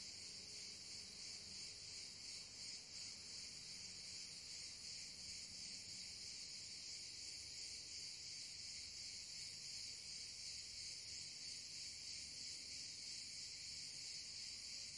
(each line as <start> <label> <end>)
0.0 cricket chirping 14.9